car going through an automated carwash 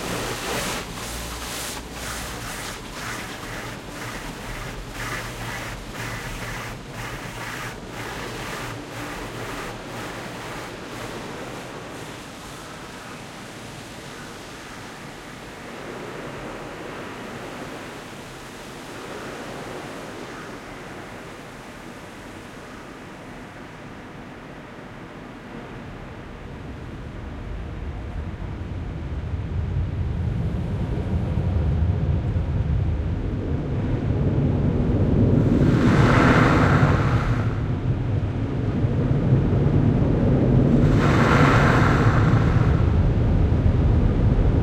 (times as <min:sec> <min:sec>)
0:00.0 0:11.8